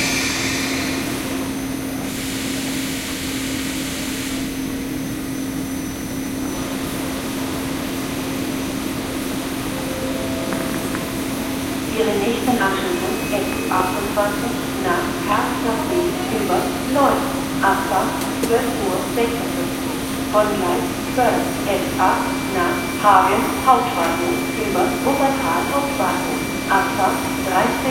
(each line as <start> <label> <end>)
0.0 trains are arriving and leaving 27.9
9.6 announcements are being made 27.9